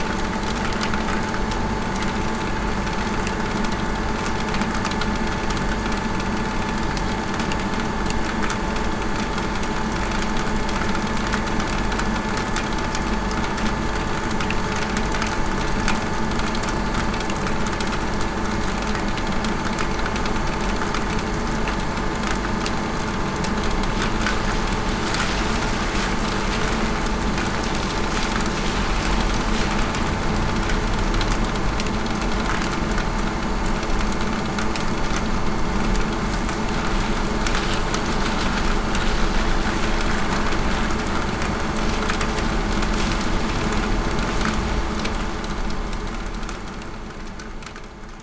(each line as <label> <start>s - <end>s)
Large air vent of an industrial building humming 0.0s - 48.2s
rain droplets dripping from the roof 0.0s - 48.2s